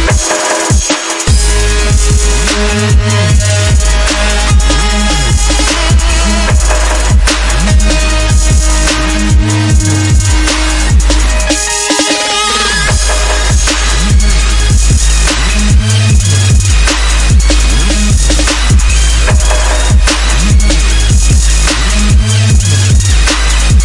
Bass 0.0 - 23.8
Melody 1.2 - 14.9

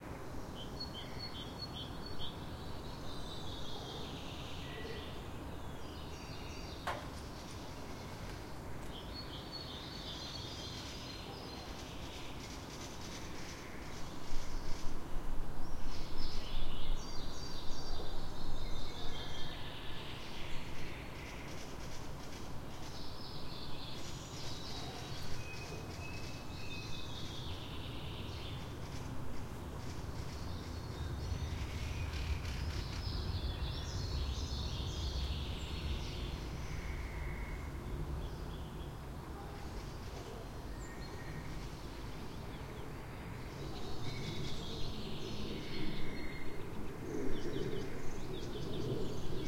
birds 0.0 - 49.4
wind 0.0 - 49.4
airplane pass-by 41.3 - 49.4

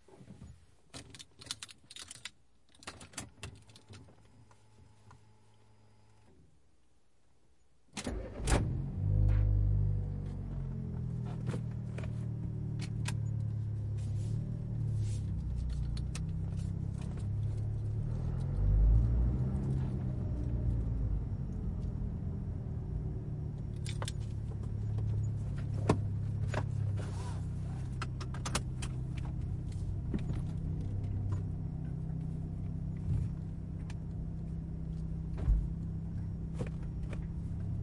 key 1.0 - 4.1
car start 8.0 - 22.3
acceleration 8.1 - 37.8

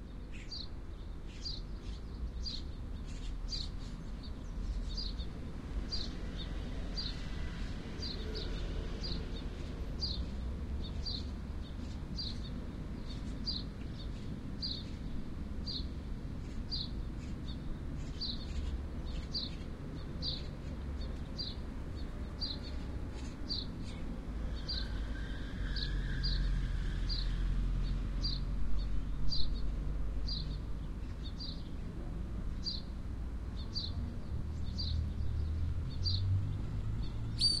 birds 0.0 - 31.9
cars 18.0 - 31.5
birds 32.5 - 37.6
cars 33.5 - 37.6

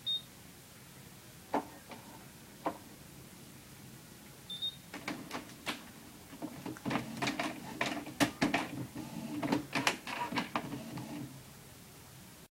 printer turning itself on 5.0 - 11.4

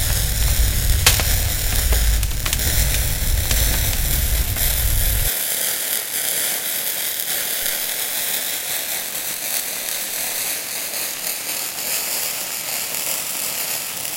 fire sounds 0.0 - 5.3

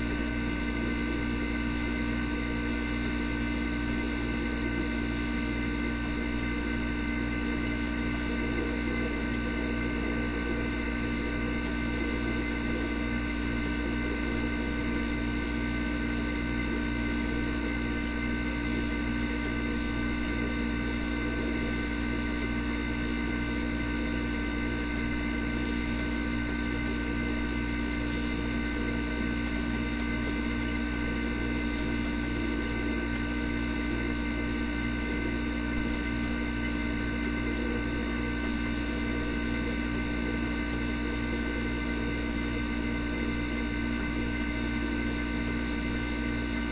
fridge compressor old bubbly 0.0 - 46.7

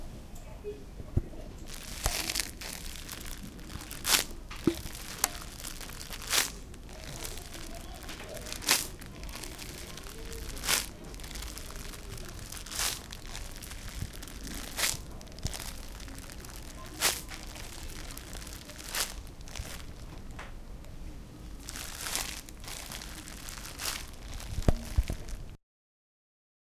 steps on dead leaves recreated with a plastic bag 1.7 - 20.3
steps on dead leaves recreated with a plastic bag 21.5 - 25.6

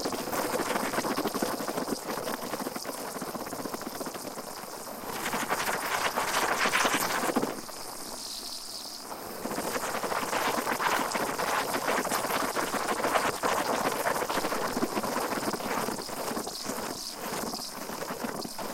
Cappuccino machine frothing (steaming) milk 0.0 - 18.7

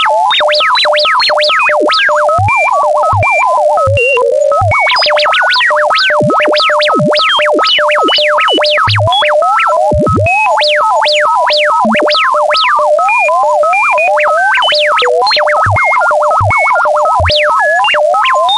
Random frequency modulations 3.8 - 12.4

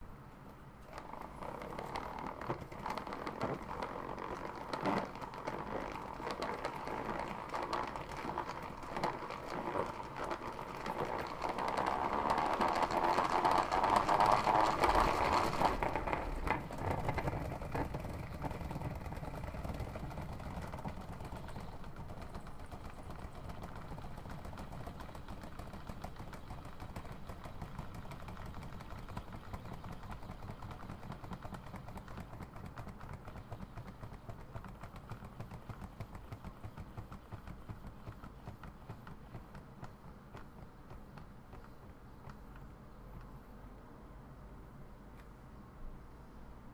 plastic salad spinner 0.8 - 43.3

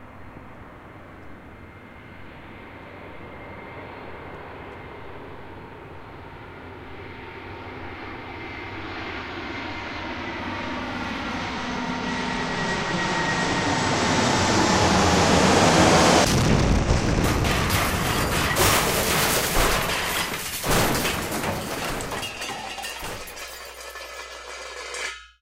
plane crash 13.4 - 25.2
explosion 16.2 - 23.4

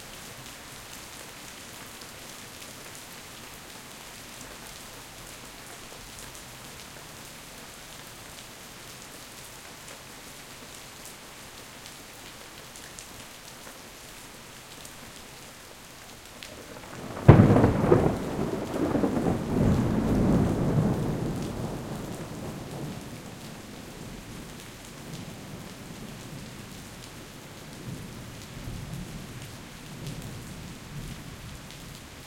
Heavy Rain 0.0 - 32.2
rolling thunder 16.6 - 23.4

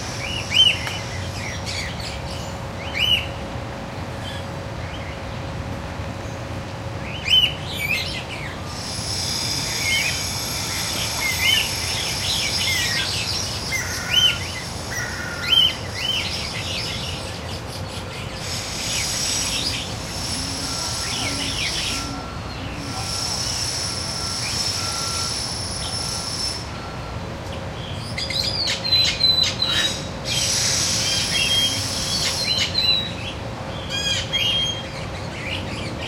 close-up noise from construction 0.0 - 36.0
Guira Cuckoo 20.2 - 23.4

